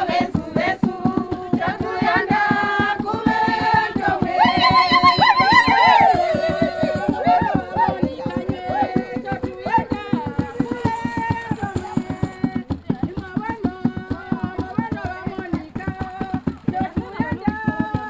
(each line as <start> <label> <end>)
0.0 Welcome song 14.4